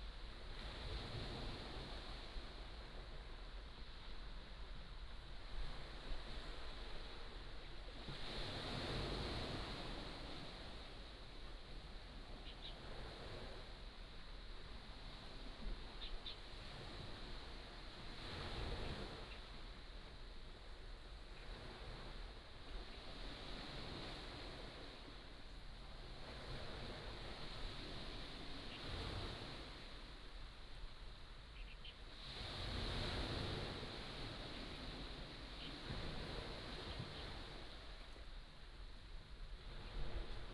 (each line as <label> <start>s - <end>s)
waves 0.0s - 40.5s
Birdsong 31.6s - 32.0s